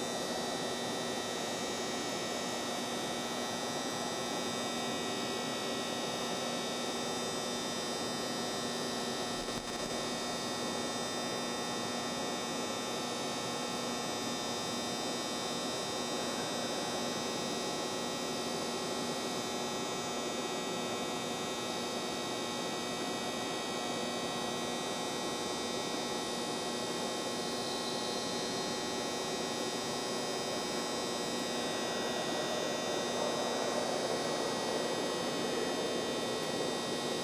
neon fluorescent store sign loud buzz 0:00.0 - 0:37.2

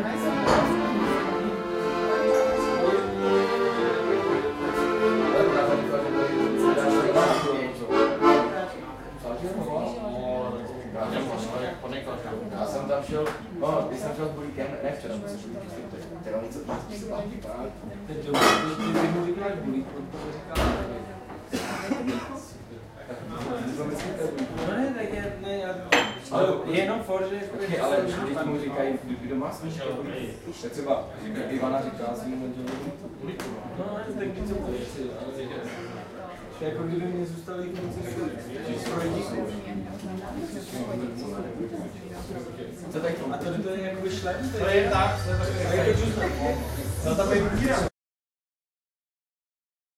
accordeon 0:00.0 - 0:09.2
crowd 0:00.0 - 0:47.9
accordeon 0:44.0 - 0:47.9

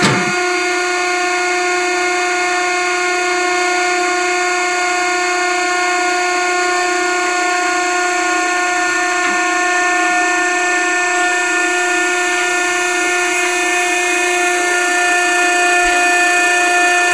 Dumpster Pressing 2 0:00.0 - 0:00.5

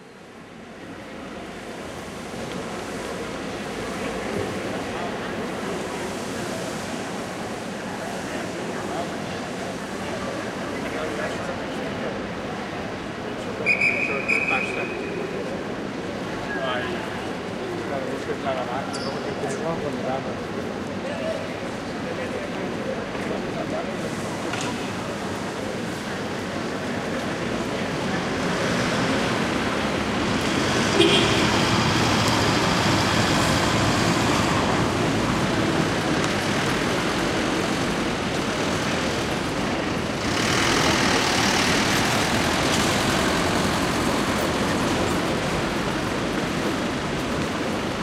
whistles 0:13.6 - 0:15.0

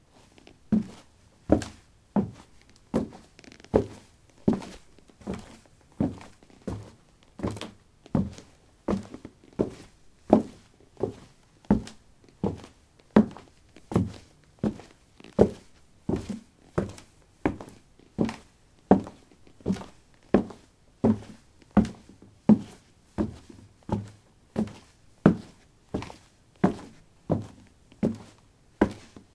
Walking on a wooden floor 0:00.1 - 0:29.3

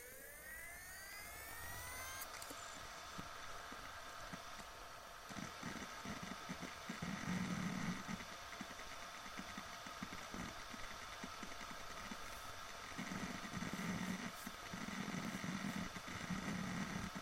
magnetic harddisk 0:00.0 - 0:17.2

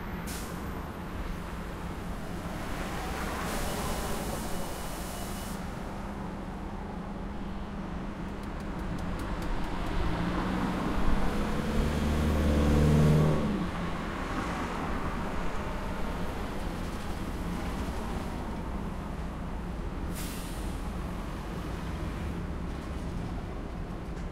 traffic 0:00.0 - 0:24.3
motorcycle 0:09.3 - 0:13.9

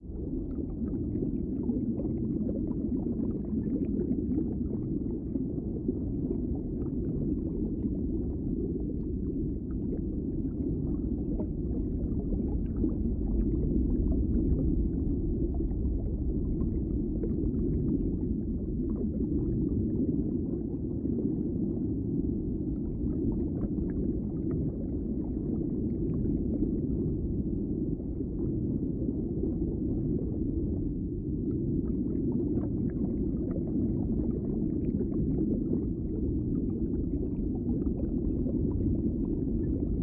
filtered noise 0:00.0 - 0:40.0
underwater ambient loop 0:00.1 - 0:40.0

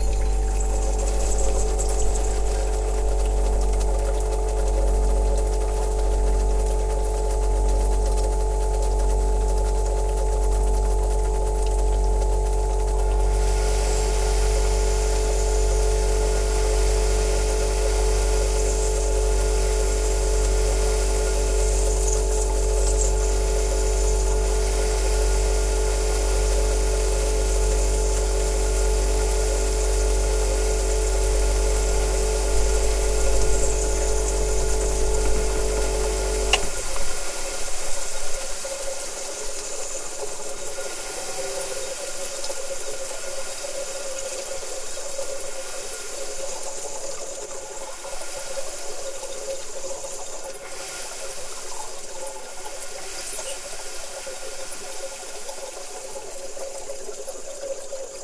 Portable fridge hum 0:00.0 - 0:41.9
hiss 0:13.2 - 0:58.2

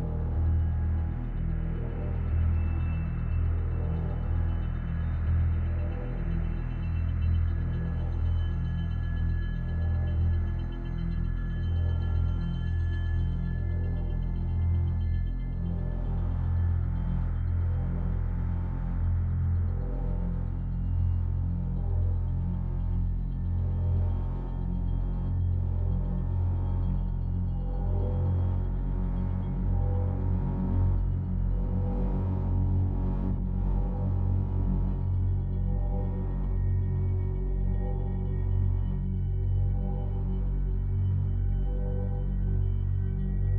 drone 0:00.0 - 0:43.5

